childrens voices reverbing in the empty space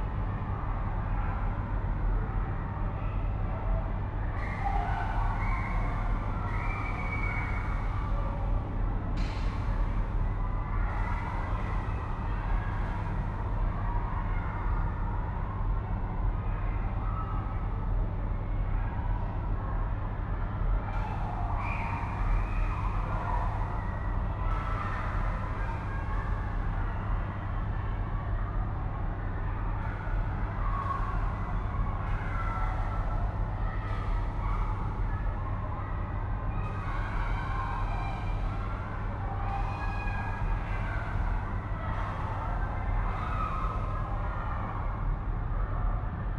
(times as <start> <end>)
29.8 45.0